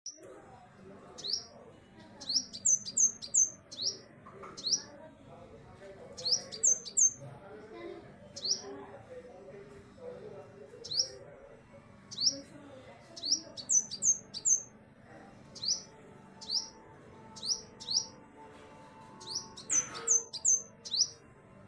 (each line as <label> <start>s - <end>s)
bird call 19.2s - 21.1s